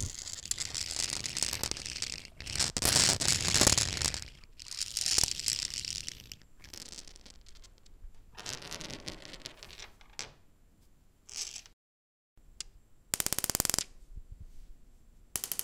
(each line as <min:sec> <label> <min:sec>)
0:00.0 Marble rolling on a stone bathroom floor 0:10.4